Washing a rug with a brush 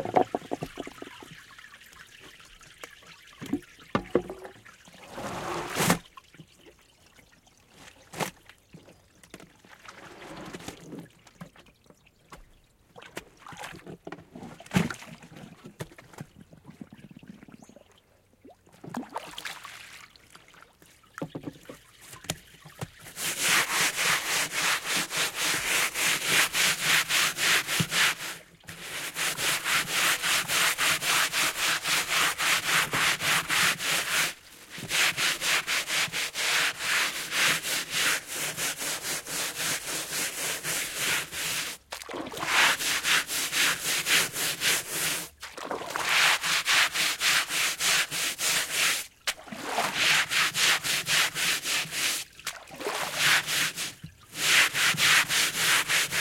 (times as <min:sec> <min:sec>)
0:05.0 0:06.0, 0:22.0 0:56.2